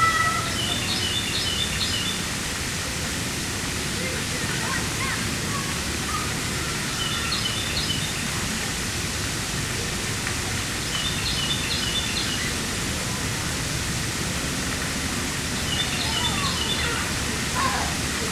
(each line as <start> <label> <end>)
0.0 children playing 1.3
0.0 Noise from the road and parking lot 18.3
0.0 water sounds 18.3
4.0 children playing 8.9
15.1 children playing 18.3